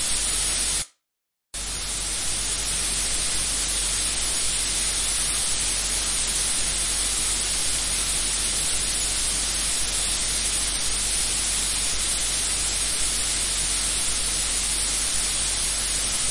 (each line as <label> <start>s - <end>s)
static noise 0.0s - 0.8s
static noise 15.0s - 16.3s